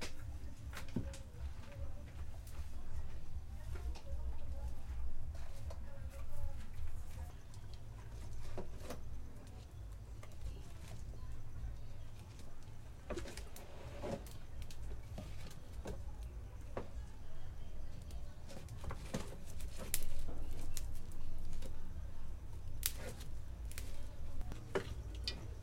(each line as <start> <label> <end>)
0.0 woman cooking 25.6
2.9 logs in a stove 25.6
22.7 fire sparks 23.9